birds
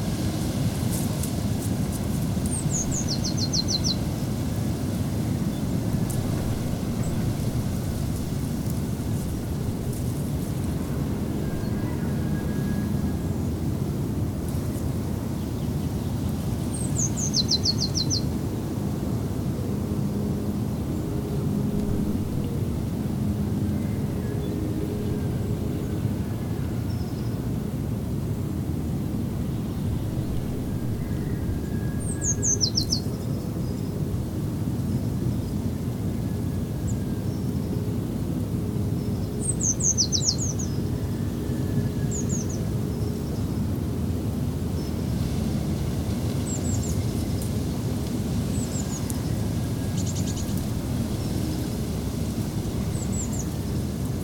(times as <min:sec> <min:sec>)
0:01.0 0:13.6, 0:29.4 0:34.3, 0:44.7 0:54.2